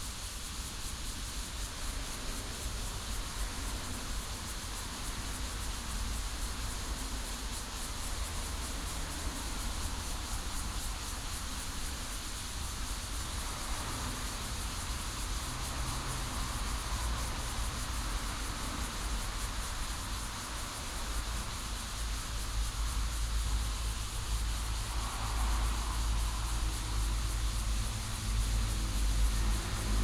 Cicadas sound 0:00.0 - 0:30.0
Traffic Sound 0:12.5 - 0:30.0

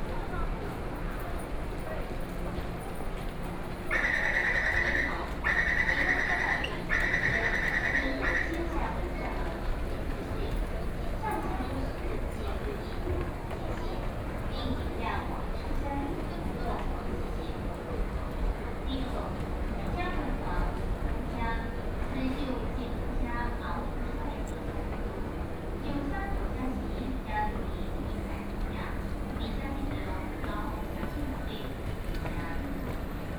walking out of the MRT station platform 0:00.0 - 0:33.3

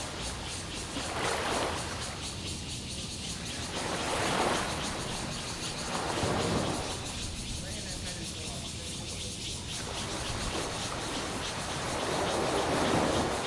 Cicadas cry 0:00.0 - 0:13.4
Sound tide 0:00.0 - 0:13.4

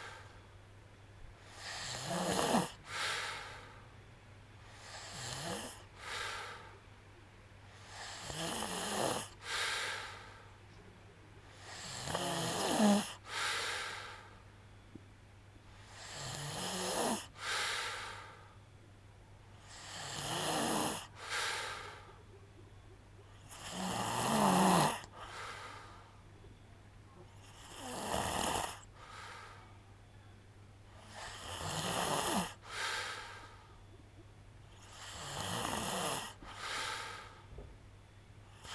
snoring sound 0:01.4 - 0:03.6
snoring sound 0:04.7 - 0:06.5
snoring sound 0:07.8 - 0:10.2
snoring sound 0:11.5 - 0:14.2
snoring sound 0:15.8 - 0:18.2
snoring sound 0:19.6 - 0:22.0
snoring sound 0:23.3 - 0:25.8
snoring sound 0:27.3 - 0:29.5
snoring sound 0:31.0 - 0:33.5
snoring sound 0:34.7 - 0:37.3
snoring sound 0:38.5 - 0:38.7

